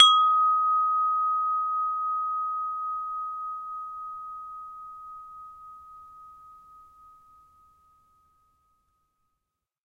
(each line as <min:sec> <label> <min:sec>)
0:00.0 windchime tube sound 0:09.1